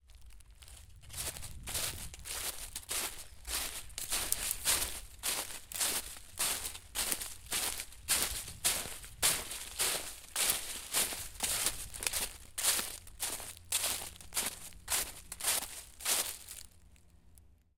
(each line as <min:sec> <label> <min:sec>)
0:00.0 Walking through leaves 0:16.8